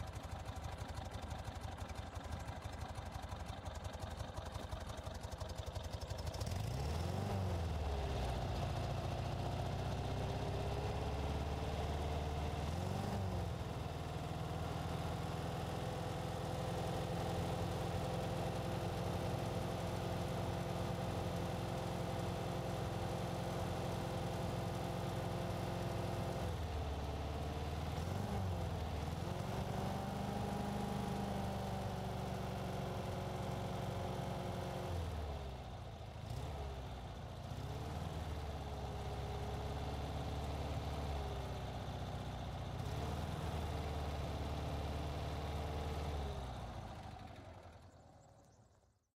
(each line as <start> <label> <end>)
6.4 Volkswagen Type 2 revving up 13.7
36.1 Volkswagen Type 2 revving up 36.8